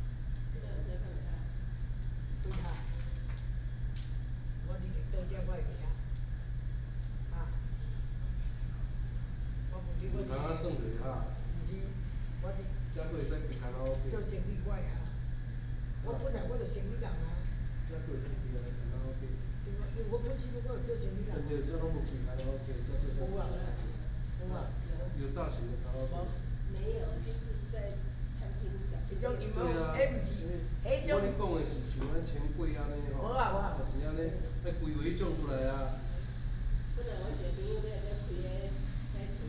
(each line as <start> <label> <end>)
0.0 Air conditioning sound 39.4
13.7 Tourists, Chat 35.4